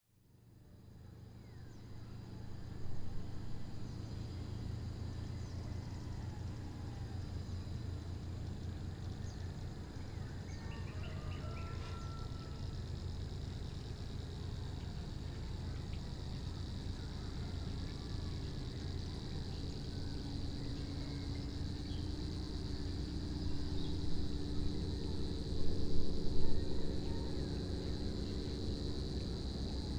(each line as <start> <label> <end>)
0.2 Chorus of cicadas 29.9
8.9 chorus from local birds 13.2